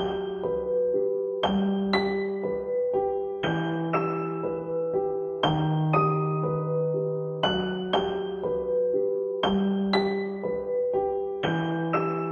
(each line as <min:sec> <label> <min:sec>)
0:00.0 piano with melody 0:12.3